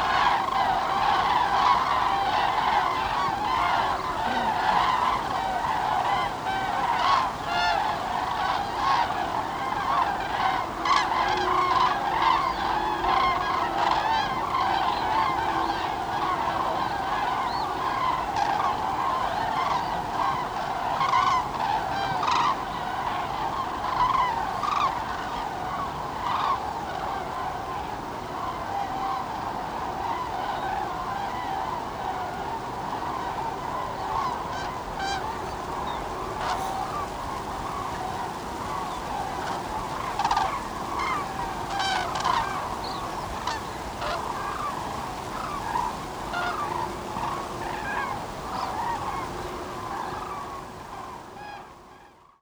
0.0s yellowing poplar leaves were hissing in the wind 52.4s
0.5s human birdwatchers turn up to see them, chatting to each other 10.0s
33.7s human birdwatchers turn up to see them, chatting to each other 50.5s

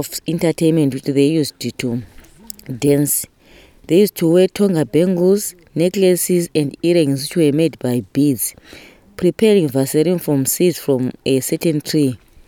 0.0s gives a summary translation of the interview 3.3s
3.9s gives a summary translation of the interview 12.2s

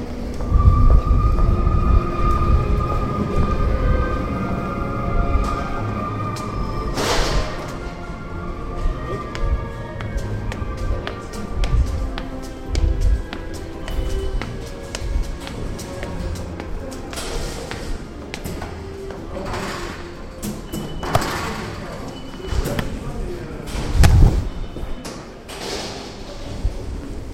0.0s Choir singing 20.3s

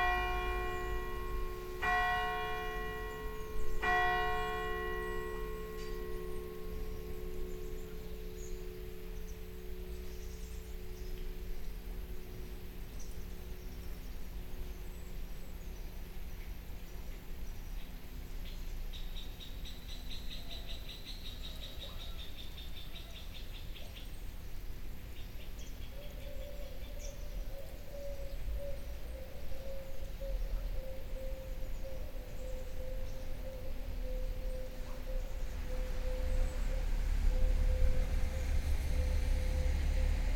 0.0s Bells ringing 14.4s

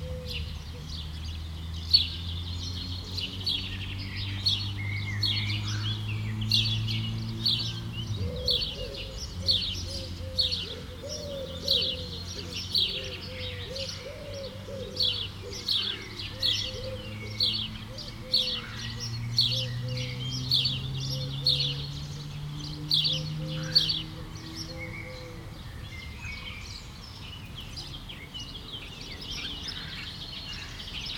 0.0s Eurasian collared doves 31.1s
0.0s sparrows 31.1s

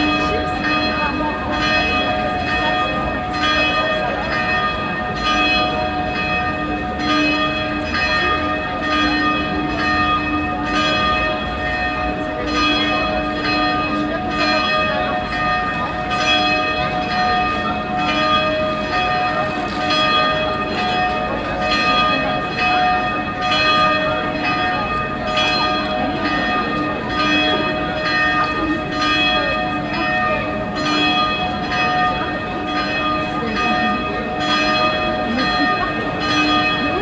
0.0s 4o clock bells 37.0s
0.0s hour bells of the nearby dom church 37.0s

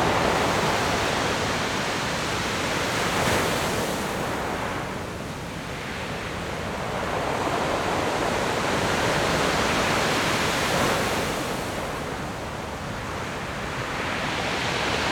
0.0s waves 15.1s

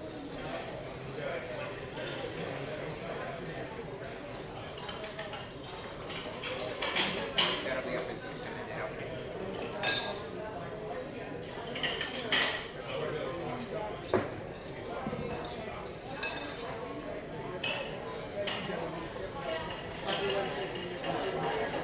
4.7s cutlery and dishes 8.1s
9.0s cutlery and dishes 10.3s
11.4s cutlery and dishes 18.8s
19.6s cutlery and dishes 21.8s

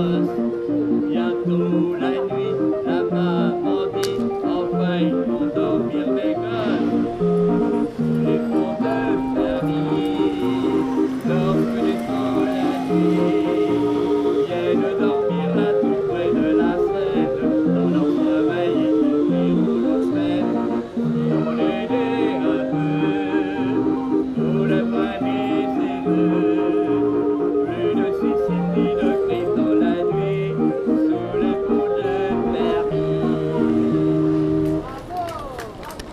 0.0s Man singing 34.6s
0.0s Hand powered organ 35.0s

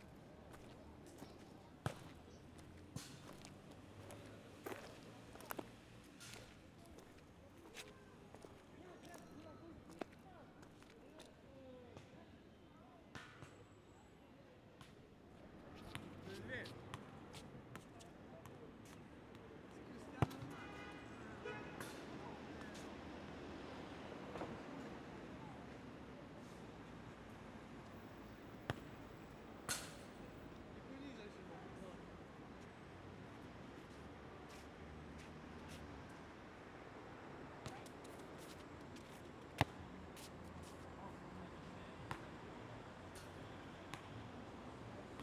0.0s boys playing football 11.4s

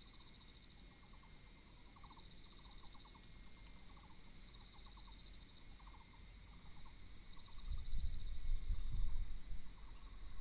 1.9s Insect noise 10.4s

